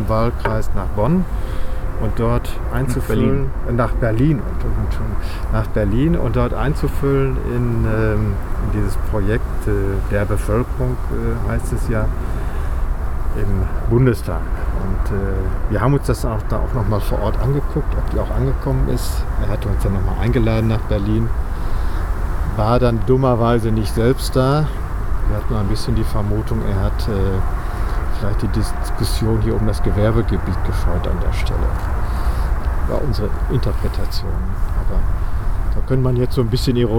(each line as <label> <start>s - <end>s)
drone of the motorway 0.0s - 36.9s